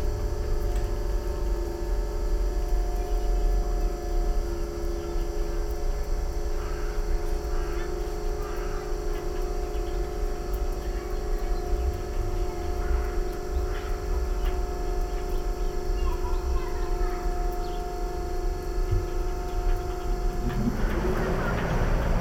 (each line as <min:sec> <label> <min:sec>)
0:00.0 conditioner 0:22.2